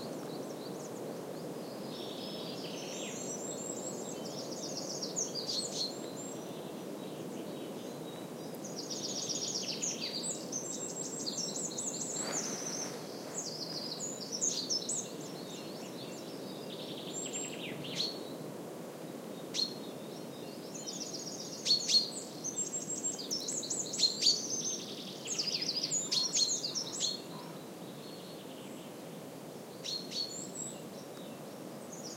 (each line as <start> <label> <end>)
0.0 birds singing 18.4
0.0 soft murmur of wind on the trees 32.1
19.1 birds singing 32.1